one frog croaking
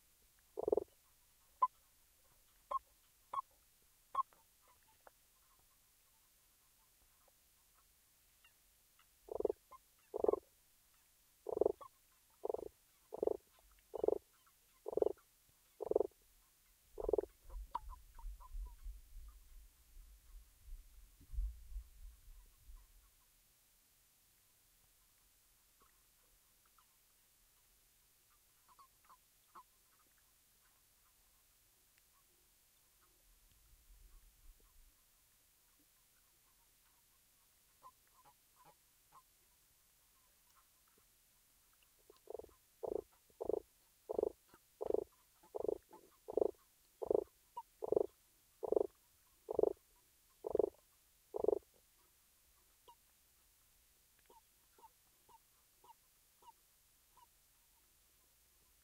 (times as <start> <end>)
0.6 0.9, 9.3 10.4, 11.5 14.2, 14.8 15.2, 15.8 16.1, 17.0 17.3, 42.1 48.9, 49.5 49.8, 50.4 51.6